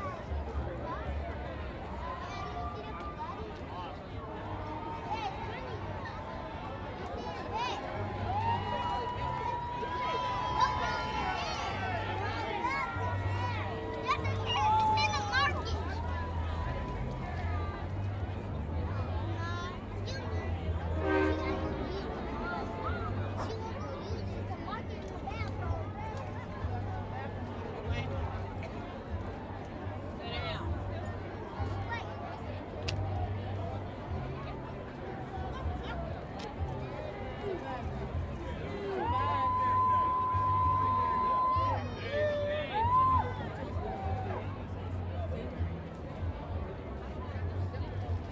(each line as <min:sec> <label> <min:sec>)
0:01.9 yelling spectators 0:18.2
0:06.4 music and sounds from passing floats 0:24.6
0:37.5 yelling spectators 0:45.0